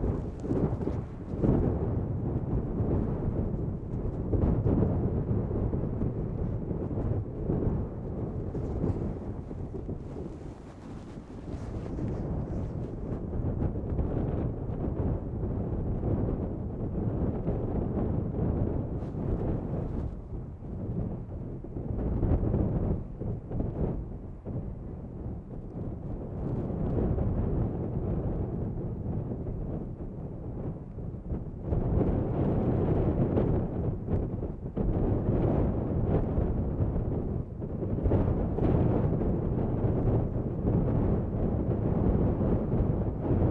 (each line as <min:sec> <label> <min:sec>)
0:00.0 storm log 0:15.0